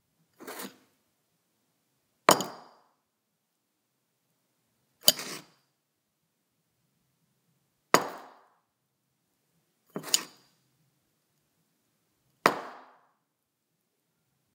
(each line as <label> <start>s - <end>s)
Picking up and putting down a cereal bowl on a wooden table 5.0s - 5.5s
Picking up and putting down a cereal bowl on a wooden table 9.9s - 10.5s